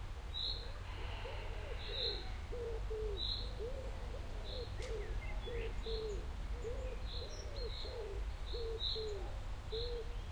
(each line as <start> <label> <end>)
0.3 birds 10.3